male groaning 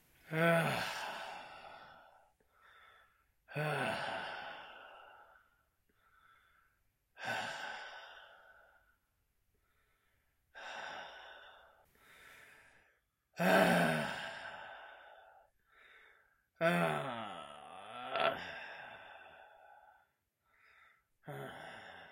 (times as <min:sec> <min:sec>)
0:00.3 0:01.3, 0:03.5 0:04.3, 0:13.4 0:14.2, 0:16.6 0:18.6